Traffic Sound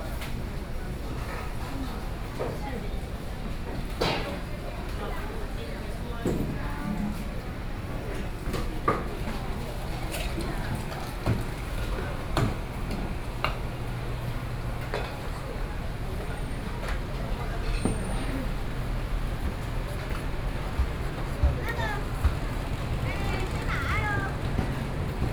11.6 25.3

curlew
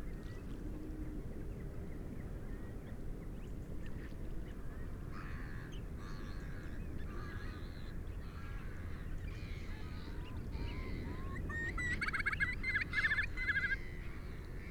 10.7 13.9

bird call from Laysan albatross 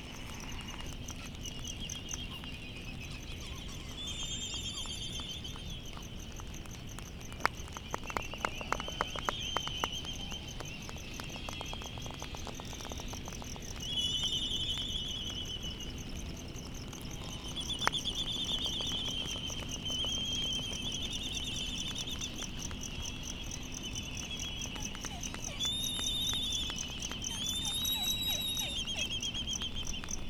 24.7 29.4

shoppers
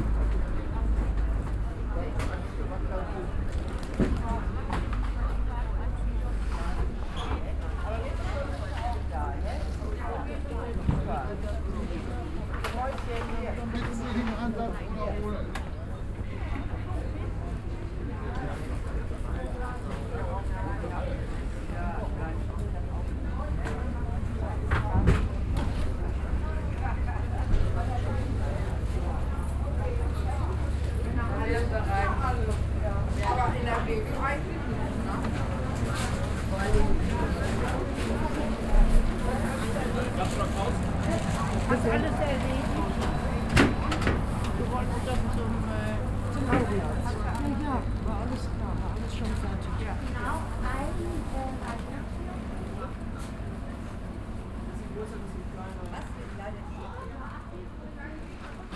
23.0 56.1

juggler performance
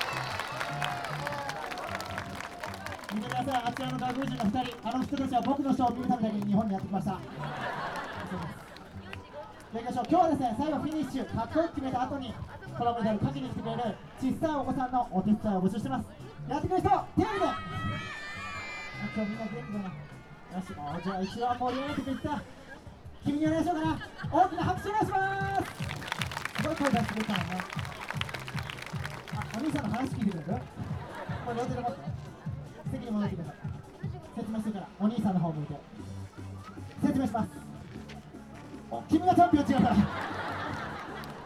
0.0 13.4, 25.2 41.4

